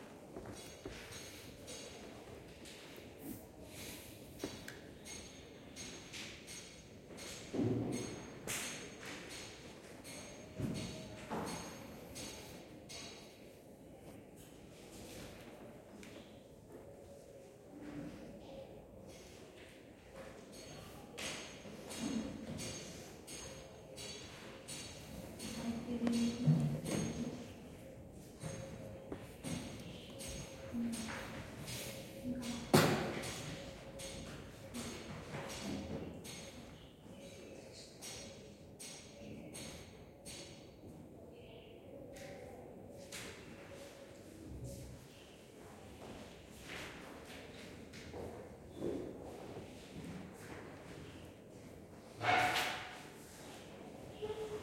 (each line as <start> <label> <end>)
0.0 small sound of a construction work 41.2
42.0 small sound of a construction work 54.6